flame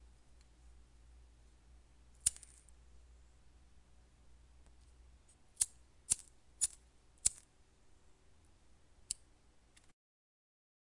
2.2s 2.8s, 5.5s 7.5s

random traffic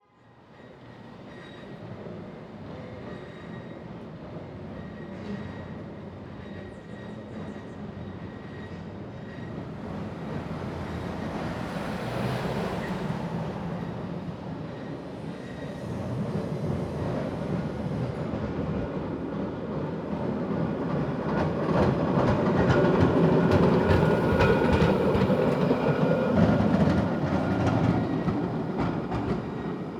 9.9s 15.3s

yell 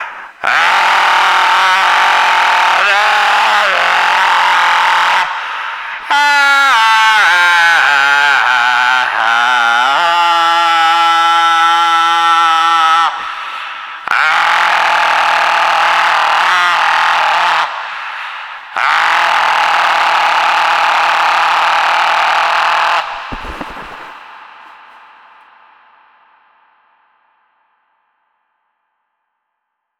0.4s 5.4s, 14.1s 23.4s

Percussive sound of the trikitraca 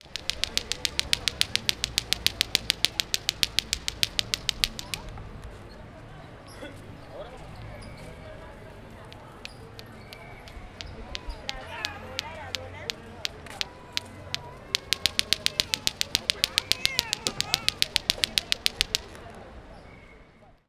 0.0s 5.1s, 9.1s 19.2s

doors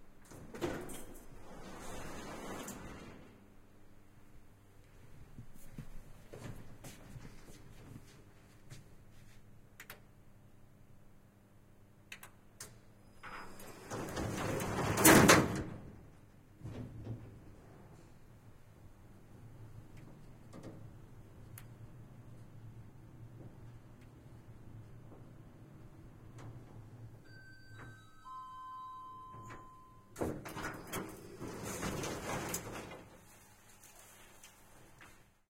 0.1s 3.7s, 12.1s 35.4s

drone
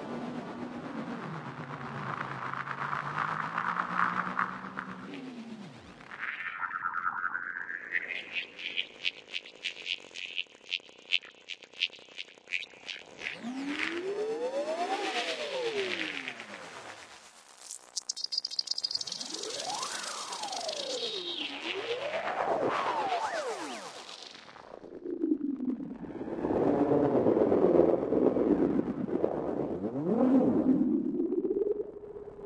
0.0s 11.2s, 12.6s 17.3s

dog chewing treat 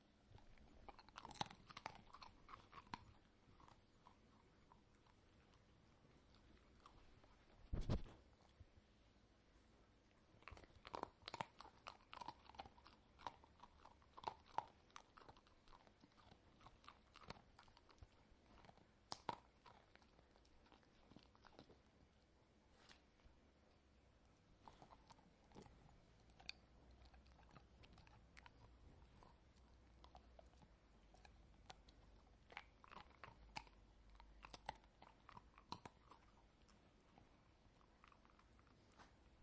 0.4s 5.3s, 10.4s 21.8s, 24.6s 39.0s

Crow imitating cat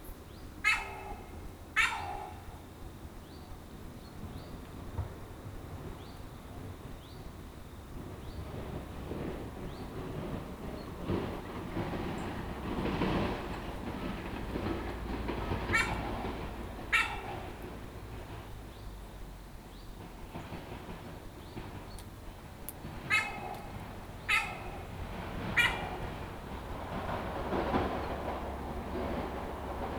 0.6s 2.4s, 15.7s 16.1s, 16.9s 17.6s, 23.1s 23.7s, 24.3s 24.9s, 25.6s 26.0s

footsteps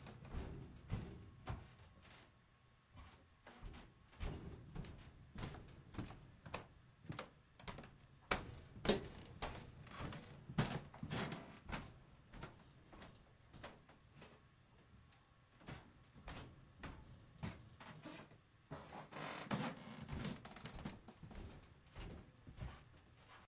0.1s 2.3s, 3.0s 13.2s, 19.6s 23.4s

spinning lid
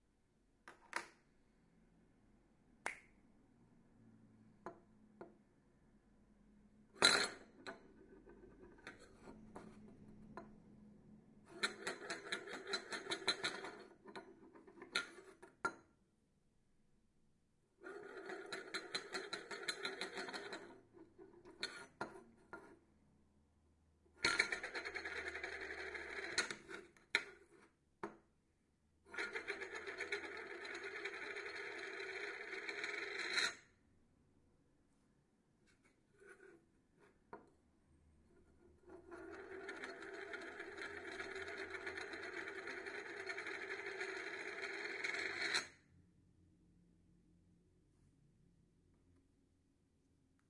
11.5s 15.3s, 17.9s 20.8s, 24.2s 27.3s, 29.1s 33.6s, 38.9s 45.7s

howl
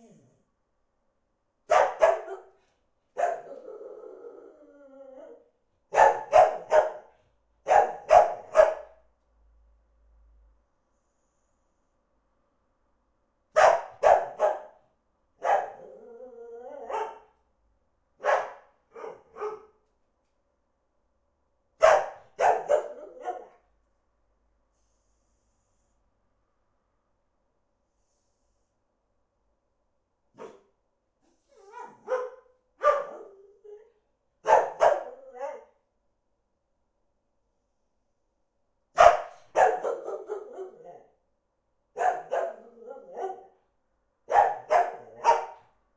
3.4s 5.6s, 15.7s 17.2s, 22.8s 23.5s, 34.9s 35.8s, 40.0s 41.2s, 42.3s 43.6s

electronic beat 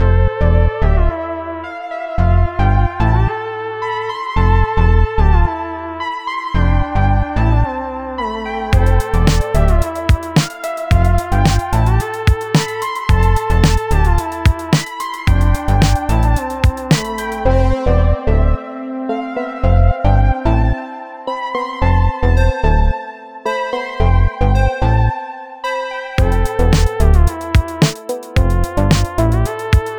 8.8s 17.7s, 26.2s 29.9s

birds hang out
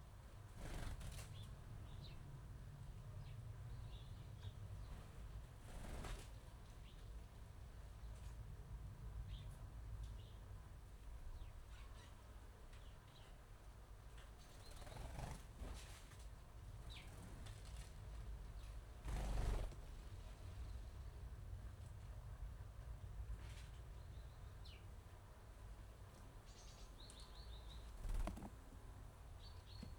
0.5s 2.2s, 26.7s 29.9s

